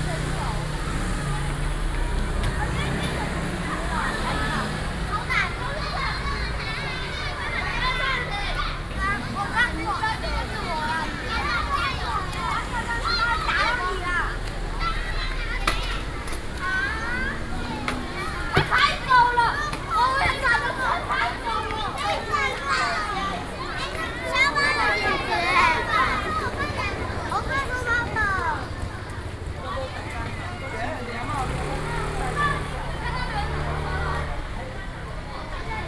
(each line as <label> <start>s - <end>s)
students leave school 0.0s - 35.8s